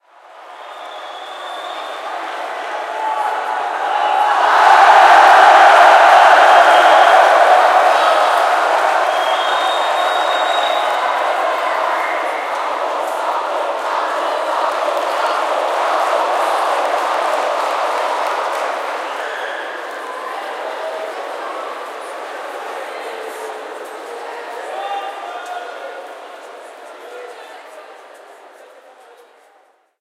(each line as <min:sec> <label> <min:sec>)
0:00.0 Crowd Cheering 0:26.6